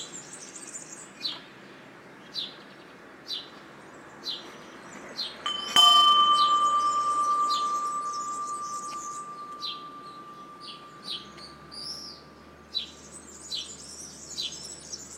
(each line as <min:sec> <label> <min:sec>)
0:05.4 medium wall bluebell 0:13.4